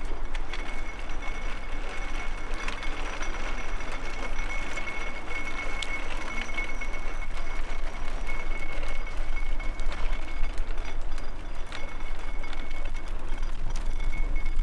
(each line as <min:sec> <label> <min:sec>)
0:00.0 shopping cart 0:14.6